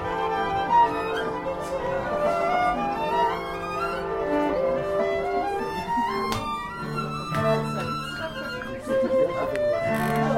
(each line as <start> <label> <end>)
0.0 Orchestra prepare to play 10.3